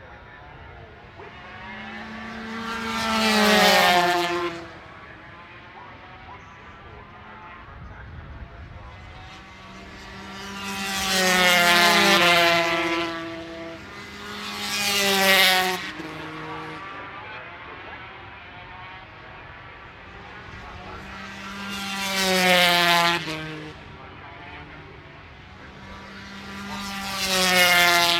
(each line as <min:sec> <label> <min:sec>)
0:00.0 Motorcycle Grand Prix 2004 ... 250 warm up 0:28.1